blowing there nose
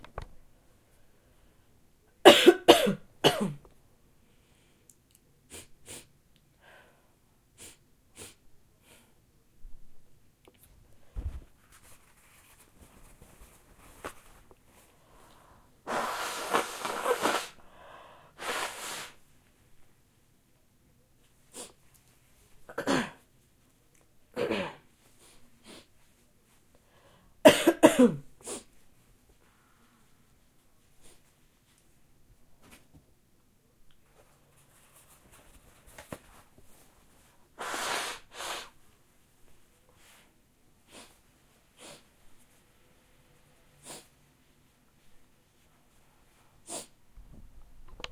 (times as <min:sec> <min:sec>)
0:15.8 0:17.6, 0:18.4 0:19.2, 0:37.6 0:38.8